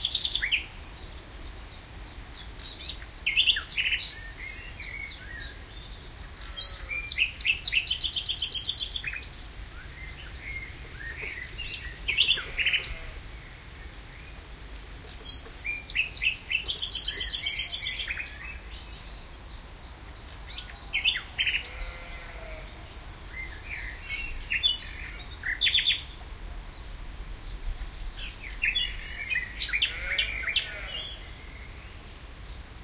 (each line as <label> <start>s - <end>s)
blackbird 0.0s - 13.2s
blackbird 15.0s - 32.8s